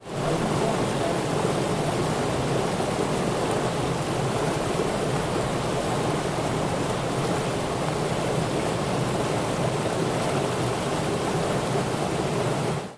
0.0s waterfall 12.9s

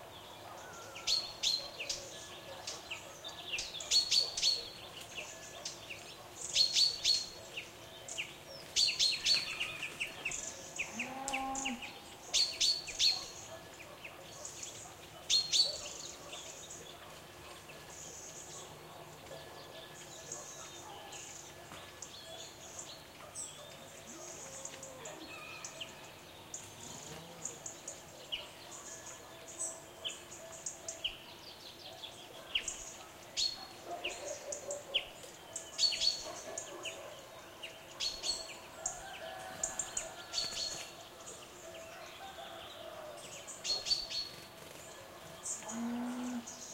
0.1s bird tweets 46.7s
1.6s dog barkings 7.6s
12.3s dog barkings 17.7s
18.5s dog barkings 26.0s
31.9s dog barkings 38.6s
44.8s dog barkings 45.6s

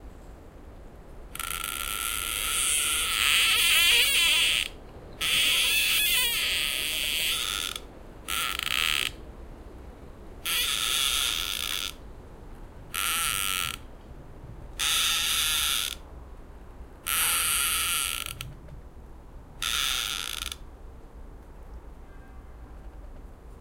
1.2s two trees creaking 16.2s
16.8s two trees creaking 18.9s
19.6s two trees creaking 20.8s

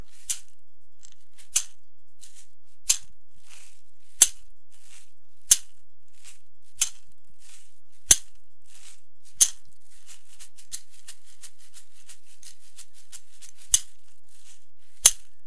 0.0s shaker 15.4s

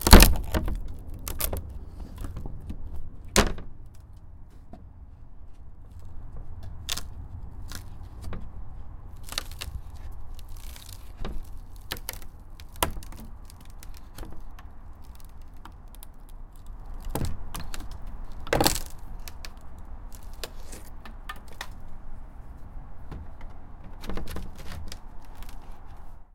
0.0s Tearing rotten wood 4.3s
5.8s Tearing rotten wood 26.3s

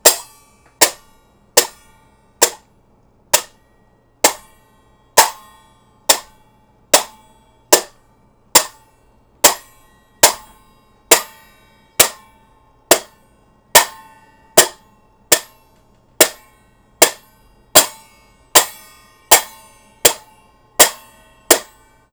14.6s 6'' hand cymbals crashing together, muted 15.6s
16.2s 6'' hand cymbals crashing together, muted 21.9s

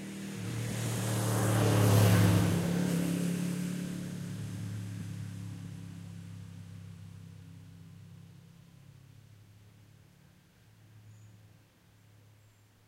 0.0s cars passing nearby 8.2s

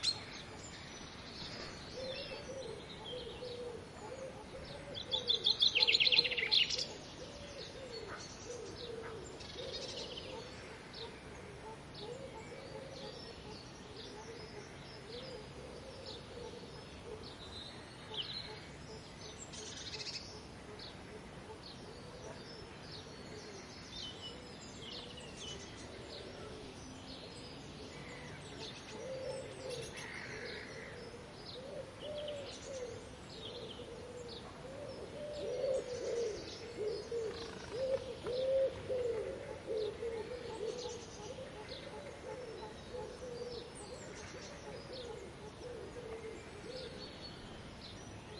0.0s Morning birds 48.3s

